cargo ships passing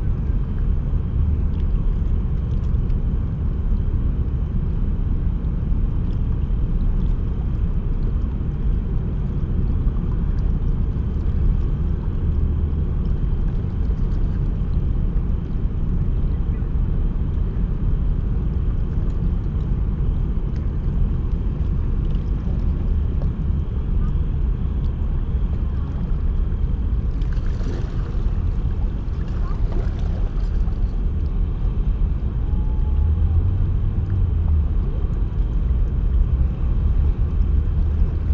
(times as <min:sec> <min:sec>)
0:10.6 0:38.3